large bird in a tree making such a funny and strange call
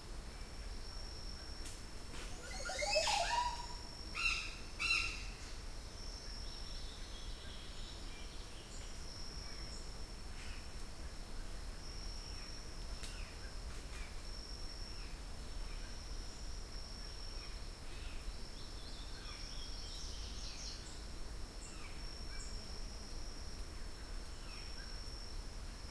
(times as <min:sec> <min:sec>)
0:02.4 0:03.8